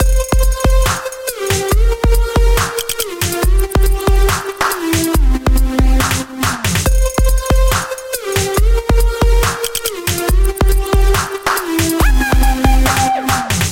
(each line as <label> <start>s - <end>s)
bass 0.0s - 13.7s
drums 0.0s - 13.7s
synthesizer 0.0s - 13.7s